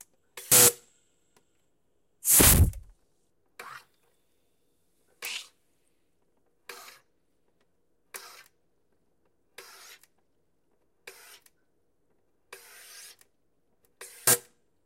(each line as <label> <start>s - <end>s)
burst of moist air release 2.2s - 2.9s